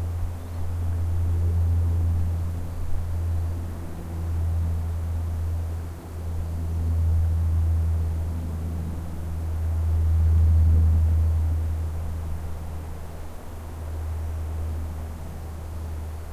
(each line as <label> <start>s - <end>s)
plane high in the sky 0.0s - 16.3s
wind 0.0s - 16.3s